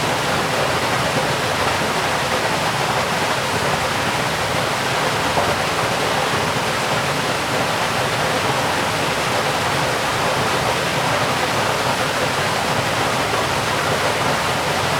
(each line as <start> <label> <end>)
0.0 stream 14.9
0.0 waterfall 14.9